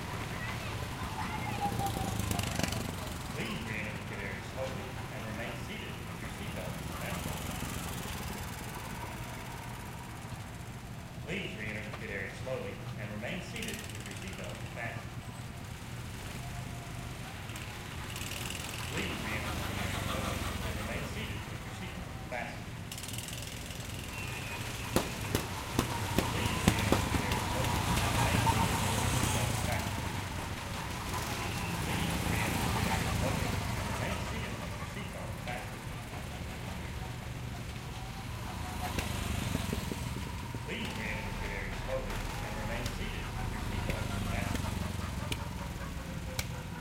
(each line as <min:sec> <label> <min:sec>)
0:00.0 Go Kart Racing 0:46.8
0:00.0 sparse crowd noise 0:46.8